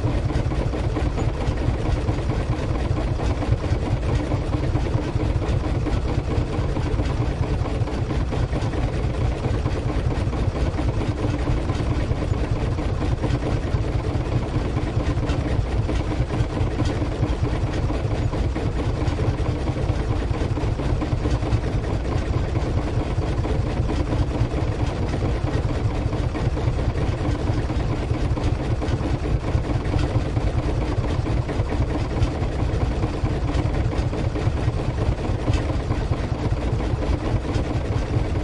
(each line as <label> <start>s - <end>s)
boat engines working 0.0s - 38.4s